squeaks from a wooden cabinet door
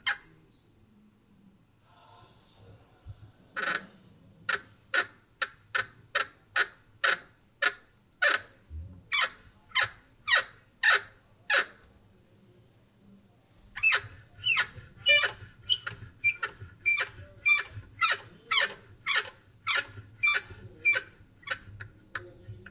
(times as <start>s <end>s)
9.1s 11.8s, 13.8s 22.7s